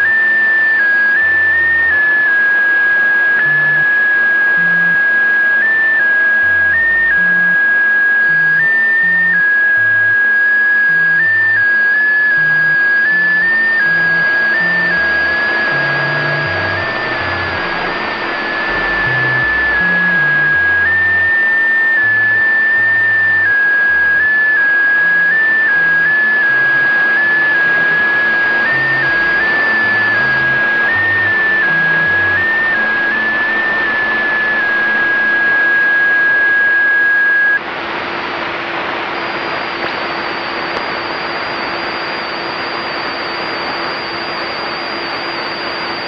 static 0:00.0 - 0:46.0
RTTY radio signal 0:06.4 - 0:46.0

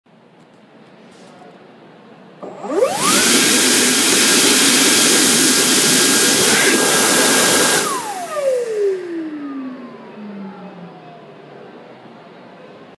high-powered blowing sound 0:02.4 - 0:09.6

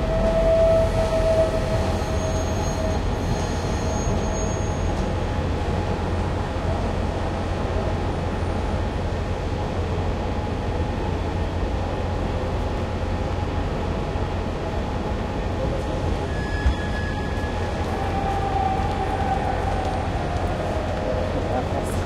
train 0:00.0 - 0:22.0

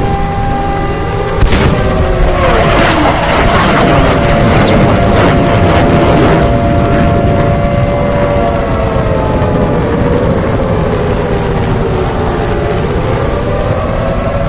airhorn 0:00.0 - 0:09.4
alarm 0:00.0 - 0:14.4
helicopters 0:00.0 - 0:14.4
sirens 0:00.0 - 0:14.4
cannons 0:00.2 - 0:09.0
shots 0:01.4 - 0:06.5
explosion 0:01.4 - 0:08.5

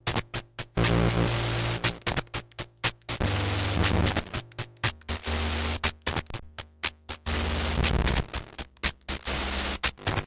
circuit bent keyboard 0:00.0 - 0:10.2

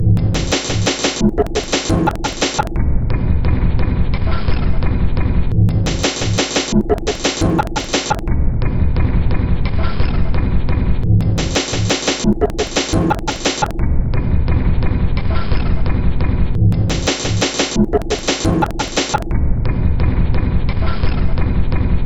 Drum Loop 0:00.0 - 0:02.8
Drum Loop 0:05.6 - 0:08.3
Drum Loop 0:11.1 - 0:13.8
Drum Loop 0:16.7 - 0:19.3

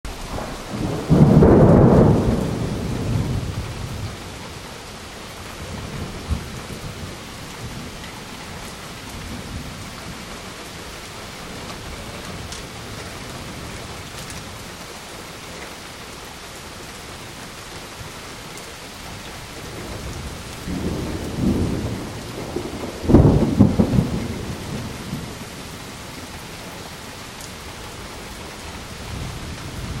rain 0:00.0 - 0:30.0
thunder 0:00.2 - 0:04.4
thunder 0:05.6 - 0:08.1
thunder 0:19.6 - 0:26.3
thunder 0:29.0 - 0:30.0

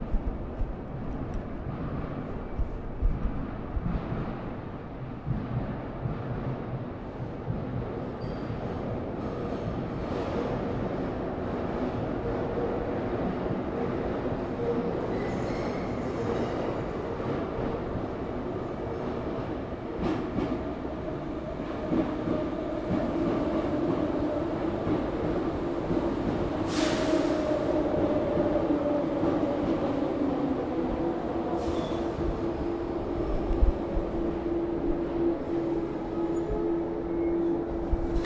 Train coming 0:00.0 - 0:38.2

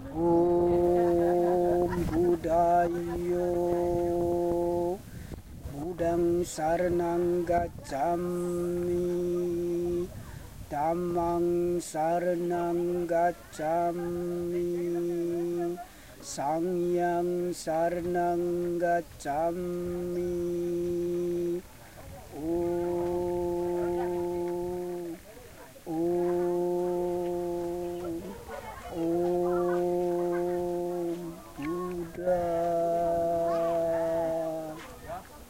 Prayer to Buddha 0:00.0 - 0:35.4

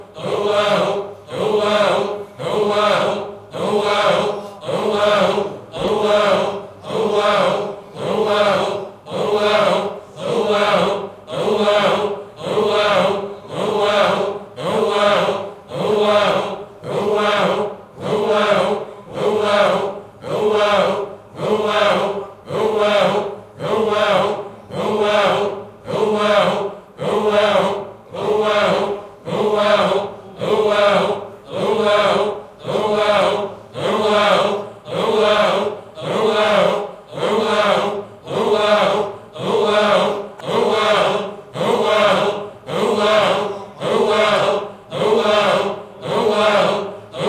voices 0:00.0 - 0:47.2

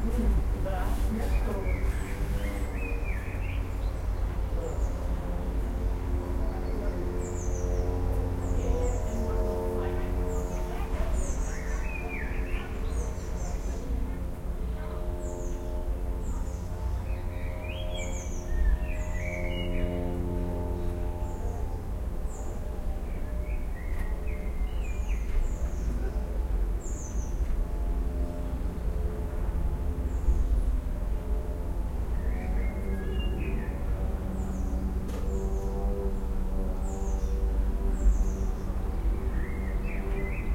Birds 0:00.0 - 0:40.5

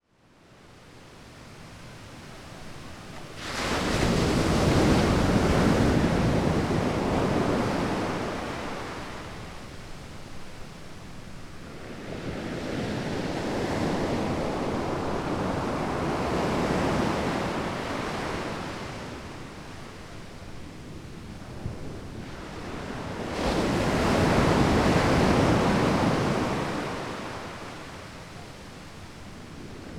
ocean waves splashing on the sand 0:03.2 - 0:09.7

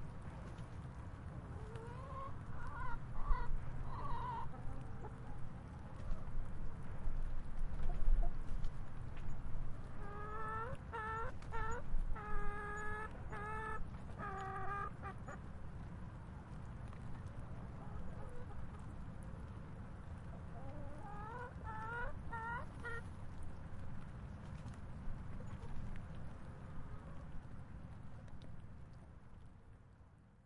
light rain 0:00.0 - 0:30.4
Chickens making soft sounds 0:01.4 - 0:08.8
Chickens making soft sounds 0:09.7 - 0:15.6
Chickens making soft sounds 0:16.8 - 0:19.6
Chickens making soft sounds 0:20.2 - 0:27.4

